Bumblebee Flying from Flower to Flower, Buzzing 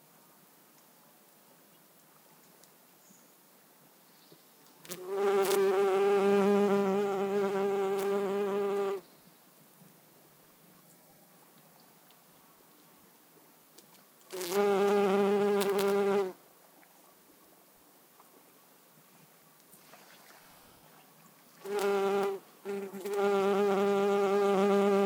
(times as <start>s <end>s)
4.9s 9.0s, 14.3s 16.4s, 21.6s 25.0s